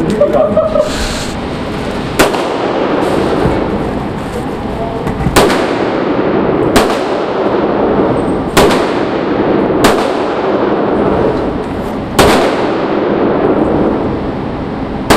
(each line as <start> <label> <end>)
0.0 Guys talking and laughing 1.3
5.4 shooting 9mm 11.0
12.2 shooting 9mm 13.4